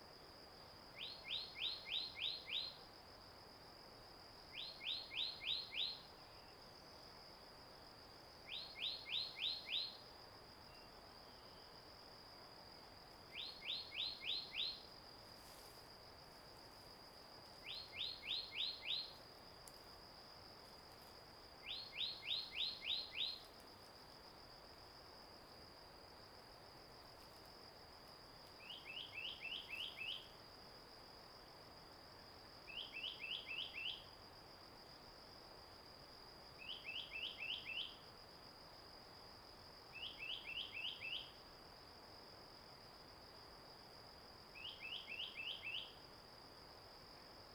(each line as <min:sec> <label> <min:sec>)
0:00.0 Insect noise 0:47.5
0:28.7 Bird song 0:30.3
0:32.7 Bird song 0:34.0
0:36.6 Bird song 0:38.0
0:40.0 Bird song 0:41.3
0:44.6 Bird song 0:45.9